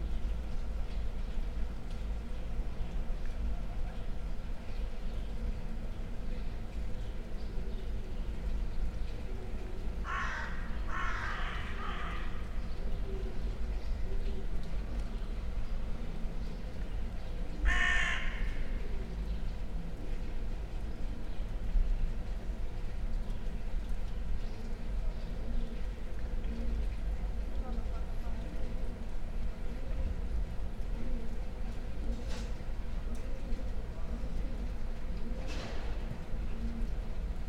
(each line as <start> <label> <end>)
10.0 crows 12.5
17.6 crows 18.8
22.8 pigeons 37.4